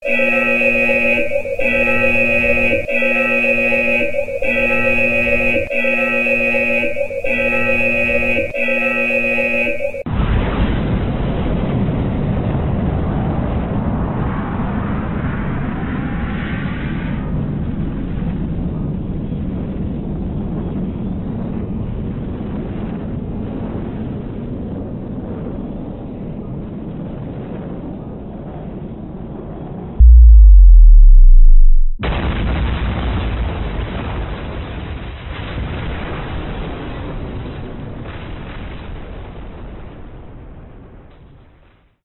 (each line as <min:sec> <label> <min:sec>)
0:00.0 alarm 0:10.1
0:10.1 Explosion 0:15.3
0:30.0 alarm 0:32.0
0:30.0 launch 0:32.3
0:30.0 Explosion 0:37.0